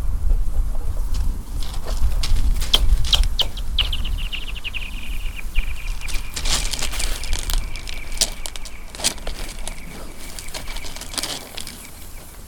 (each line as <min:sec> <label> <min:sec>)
0:03.0 motorcycle in distant landscape 0:12.4
0:06.0 Stones on the ice 0:12.4